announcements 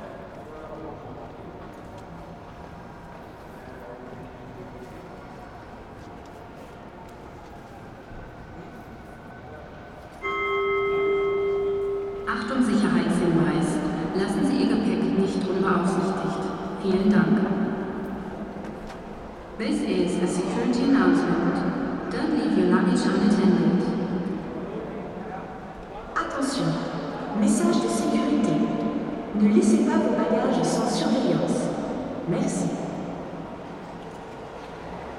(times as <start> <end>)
7.0 33.8